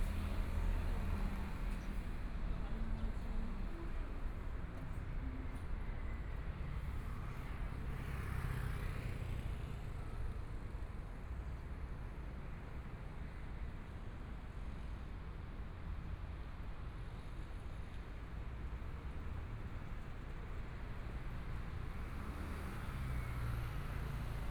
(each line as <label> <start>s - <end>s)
Traffic Sound 18.7s - 24.5s